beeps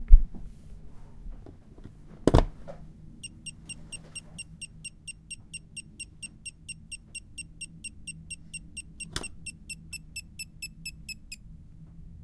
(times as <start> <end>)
3.2 11.4